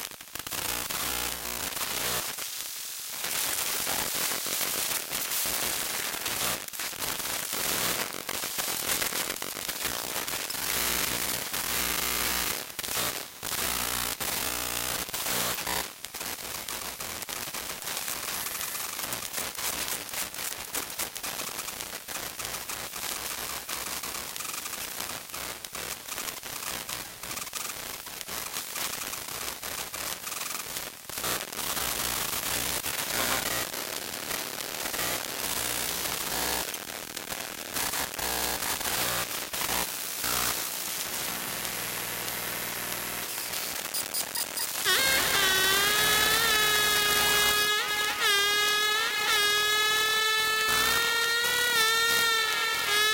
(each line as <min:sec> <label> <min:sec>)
0:38.2 electromagnetic sound 0:53.1